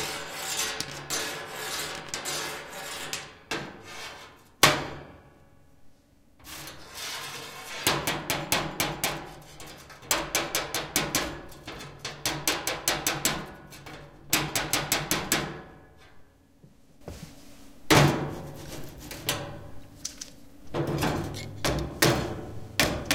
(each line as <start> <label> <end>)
0.0 metal ruler 4.4
0.0 metal radiator 5.0
6.4 metal radiator 16.2
17.9 metal radiator 23.1